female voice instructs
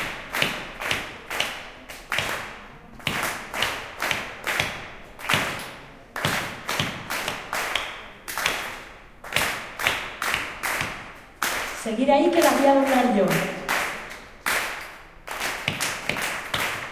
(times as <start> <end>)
11.8 13.7